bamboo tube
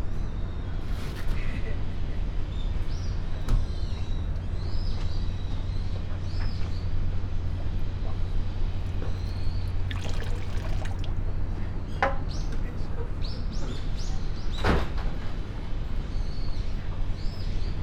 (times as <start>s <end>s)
9.0s 11.2s